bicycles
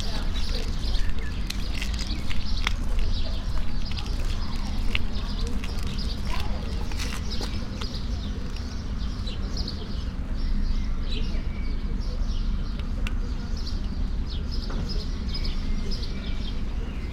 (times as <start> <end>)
0.0 9.8